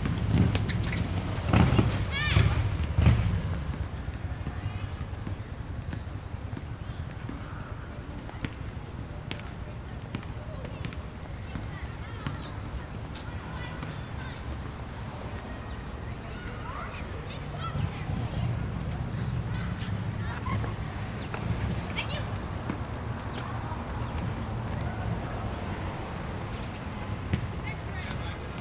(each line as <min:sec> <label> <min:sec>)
0:00.0 children playing basketball 0:28.6